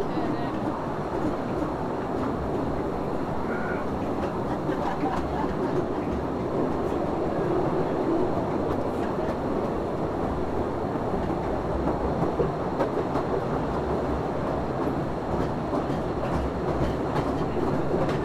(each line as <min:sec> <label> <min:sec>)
0:00.0 Train inside Postojna cave 0:18.2